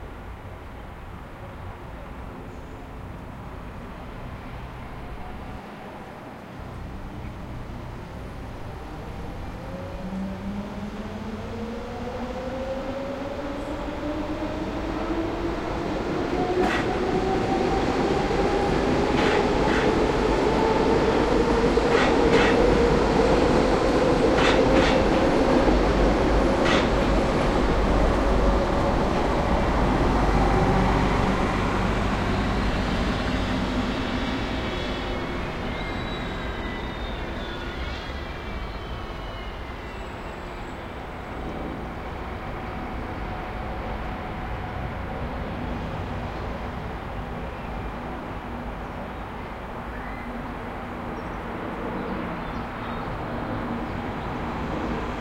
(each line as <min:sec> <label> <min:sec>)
0:00.0 trains 0:55.2